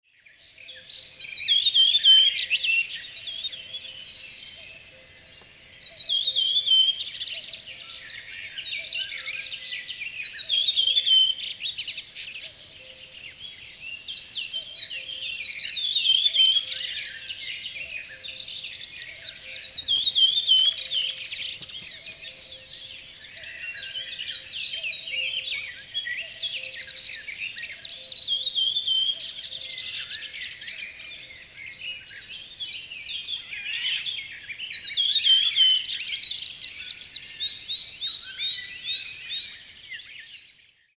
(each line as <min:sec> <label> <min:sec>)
0:00.3 other birds 0:40.8